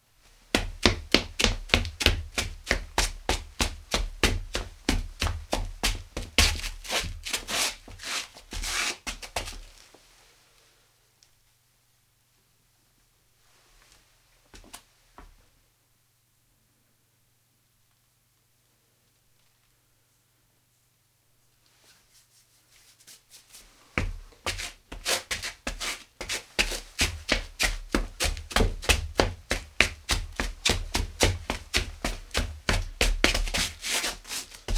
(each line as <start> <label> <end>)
0.5 Footsteps 10.0
21.8 Footsteps 34.7